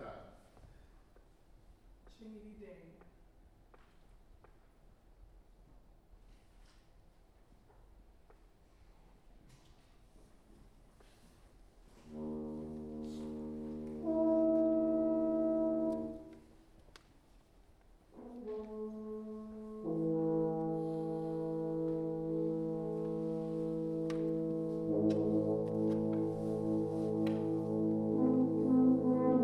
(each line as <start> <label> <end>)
11.9 French Horn 16.6
18.1 French Horn 29.4